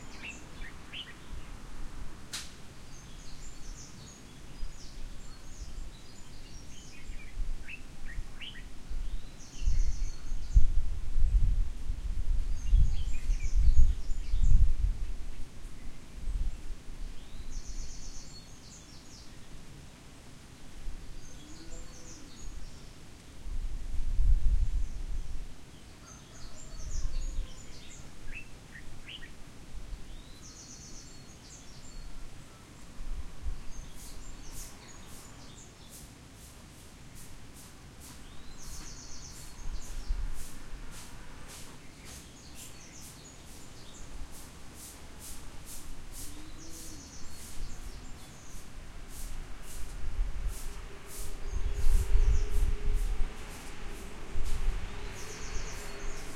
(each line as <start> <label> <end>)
25.7 birds 29.4
30.0 birds 56.3